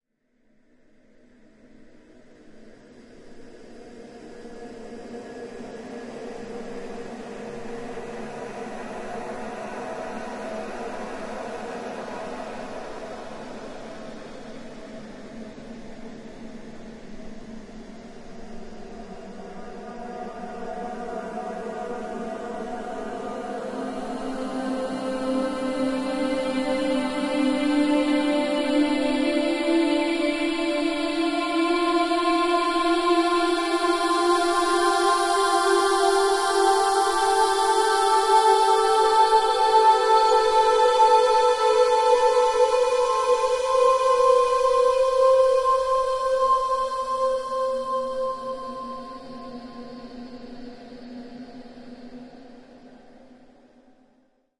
choir 0:00.4 - 0:54.4

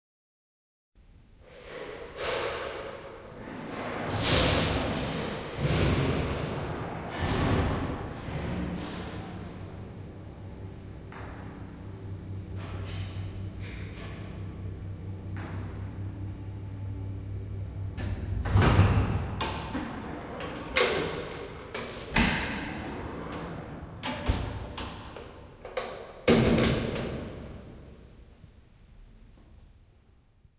elevator ride 0:03.3 - 0:28.0

